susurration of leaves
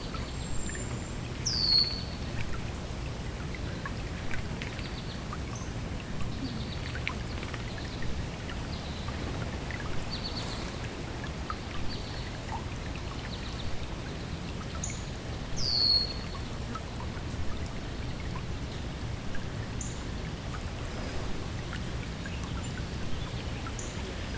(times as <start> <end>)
15.1 24.3